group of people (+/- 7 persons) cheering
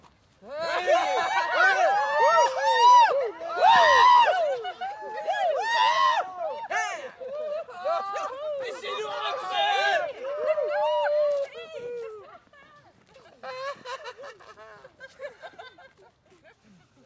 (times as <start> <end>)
0.5 12.4